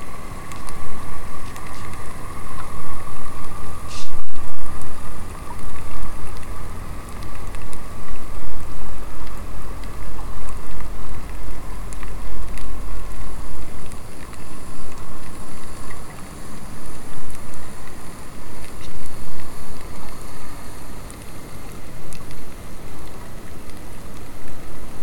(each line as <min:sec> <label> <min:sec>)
0:00.0 Underwater fireplace 0:25.0